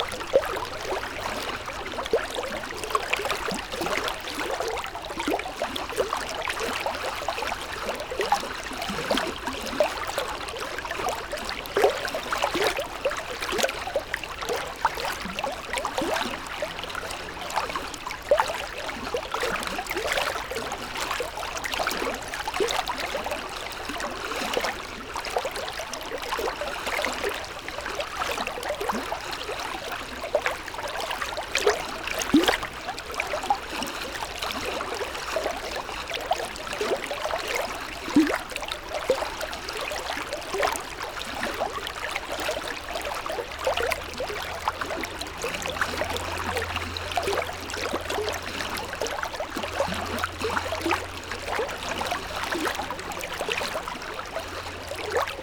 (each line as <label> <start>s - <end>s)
river 0.0s - 55.4s